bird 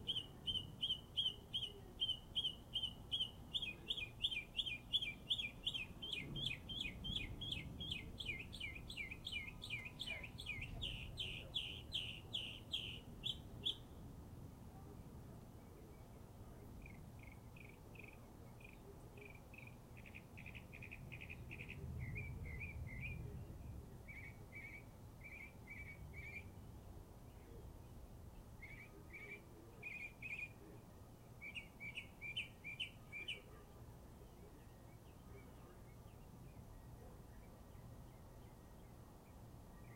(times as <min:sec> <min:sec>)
0:00.0 0:13.9, 0:16.8 0:26.6, 0:28.6 0:30.8, 0:31.4 0:33.7